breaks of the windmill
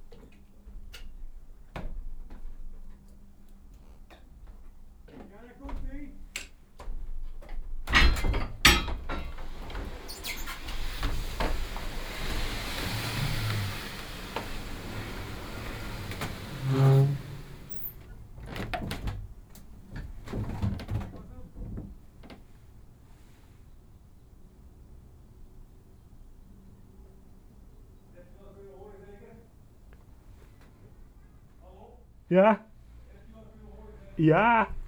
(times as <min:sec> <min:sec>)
0:08.0 0:19.4